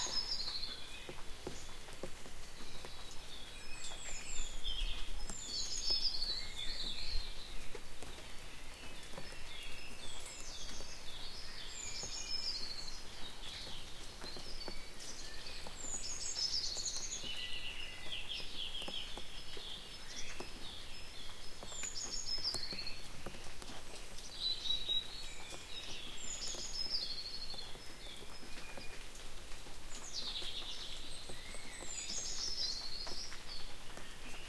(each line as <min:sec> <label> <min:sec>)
0:00.0 birdsong 0:34.4